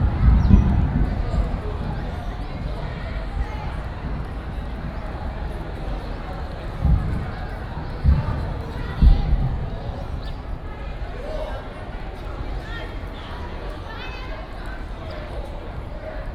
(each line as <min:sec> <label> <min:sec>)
0:00.0 thunder 0:10.7
0:00.0 Chinese tourists 0:16.3